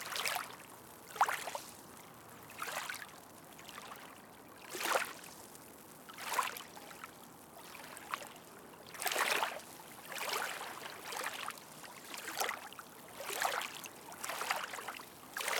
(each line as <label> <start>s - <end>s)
waves gently crashing onto the shore 0.0s - 15.5s